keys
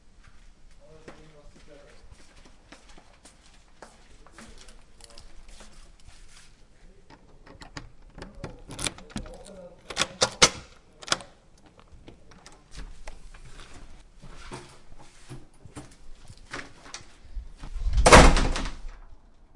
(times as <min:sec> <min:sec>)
0:04.4 0:06.1, 0:07.1 0:12.8